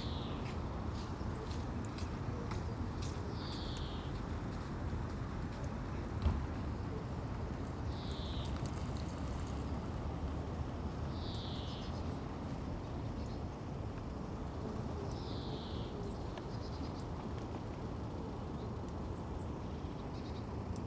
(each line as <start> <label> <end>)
0.0 A long-tailed tit 0.4
0.0 Traffic slowed 20.8
3.3 A long-tailed tit 4.2
7.6 Walking 9.8
11.1 A long-tailed tit 12.2
15.0 A long-tailed tit 17.1